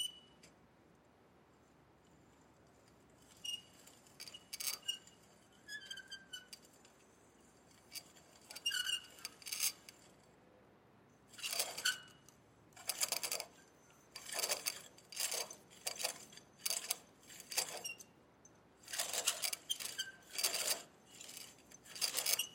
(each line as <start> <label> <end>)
0.0 Clothesline metallic squeak 0.4
3.2 Clothesline metallic squeak 7.2
7.8 Clothesline metallic squeak 9.9
11.3 Clothesline metallic squeak 12.2
12.8 Clothesline metallic squeak 18.2
18.8 Clothesline metallic squeak 22.5